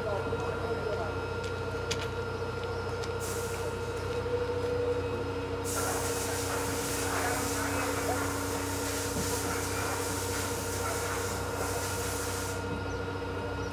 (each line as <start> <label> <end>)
0.0 Rail winds 13.7